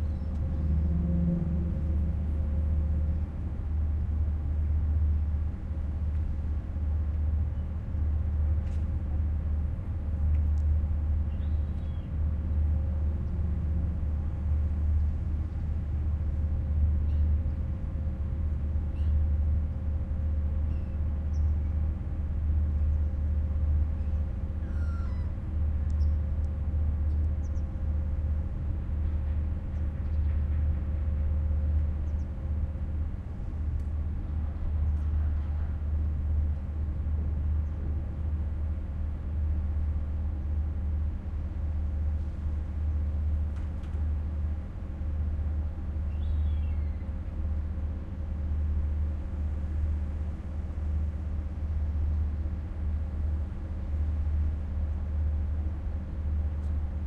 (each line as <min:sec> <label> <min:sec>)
0:00.0 sea 0:57.0